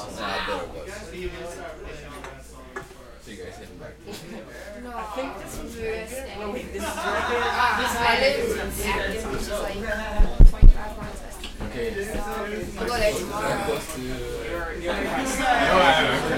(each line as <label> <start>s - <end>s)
crowd int small group young people 0.0s - 16.3s